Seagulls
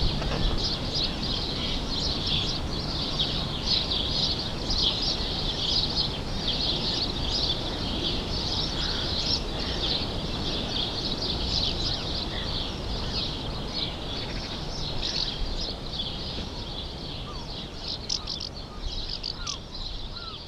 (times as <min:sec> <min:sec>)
0:07.6 0:13.4